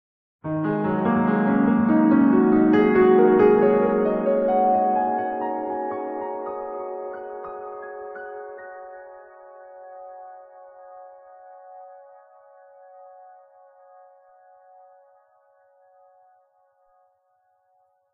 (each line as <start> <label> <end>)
0.4 Piano piece 16.0